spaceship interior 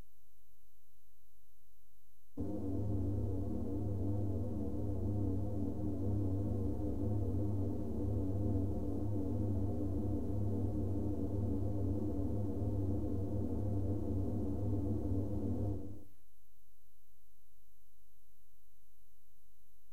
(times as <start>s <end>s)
2.4s 11.6s